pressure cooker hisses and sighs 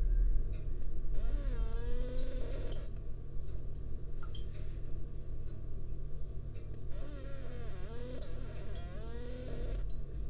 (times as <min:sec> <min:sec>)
0:01.2 0:02.9